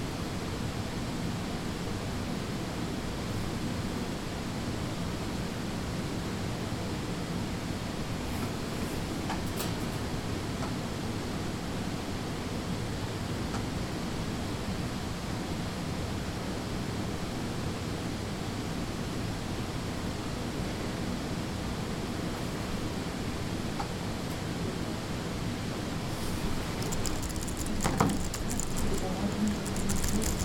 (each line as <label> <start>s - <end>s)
Typing 26.5s - 30.4s